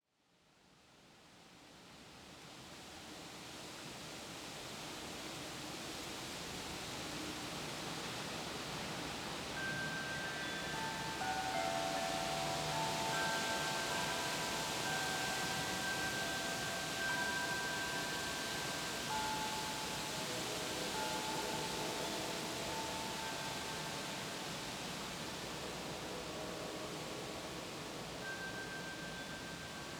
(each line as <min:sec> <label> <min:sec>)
0:00.9 wind 0:29.9
0:06.6 wind driven rain 0:29.9
0:09.3 wind chimes 0:29.9